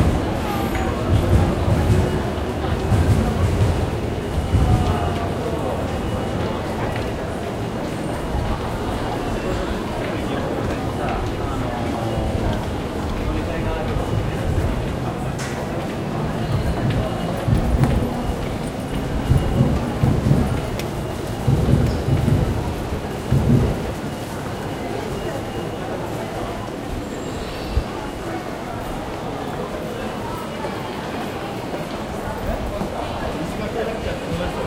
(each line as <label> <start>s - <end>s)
trains pass below and overhead 0.0s - 34.6s
people walking 0.0s - 27.2s